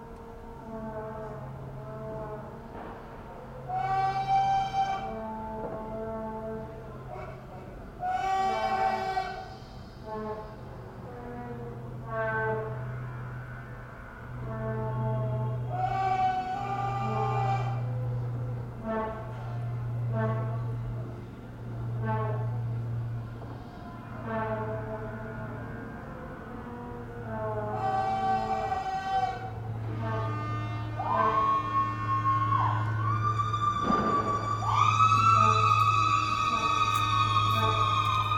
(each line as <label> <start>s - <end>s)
Vuvuzelas 0.0s - 38.3s
shouts, screams 30.9s - 38.3s
fireworks 33.8s - 34.5s